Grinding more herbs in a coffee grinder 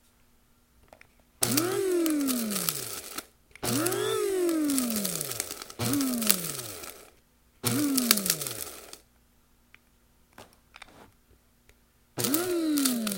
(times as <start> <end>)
1.4 9.0, 12.2 13.1